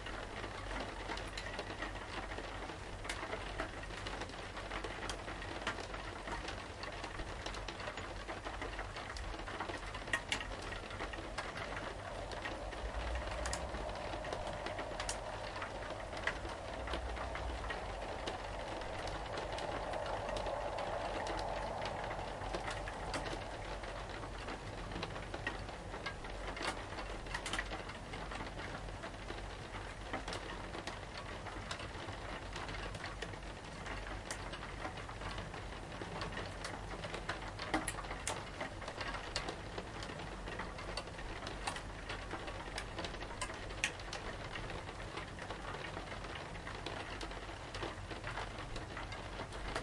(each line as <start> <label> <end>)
0.0 Rain on a window 49.8